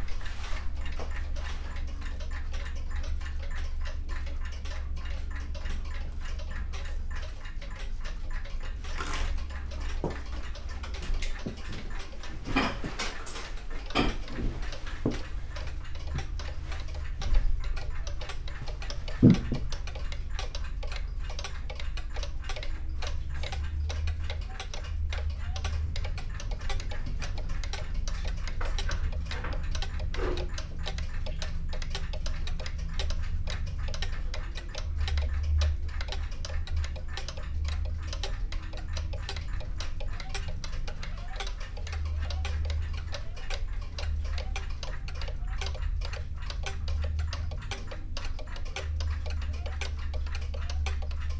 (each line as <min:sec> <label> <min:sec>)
0:00.0 old clocks 0:51.3